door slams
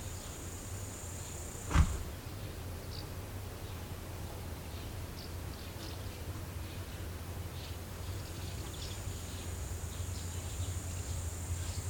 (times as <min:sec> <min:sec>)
0:01.6 0:02.1